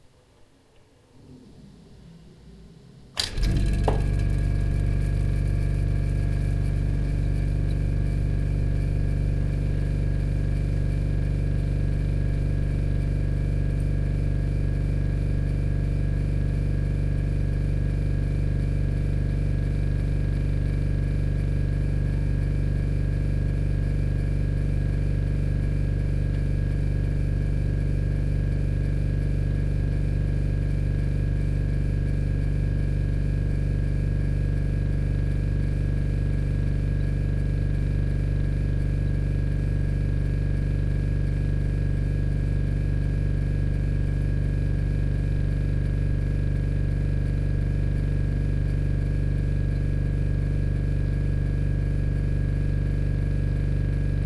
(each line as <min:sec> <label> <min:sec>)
0:01.2 old refrigerator starts, working and stops 0:54.2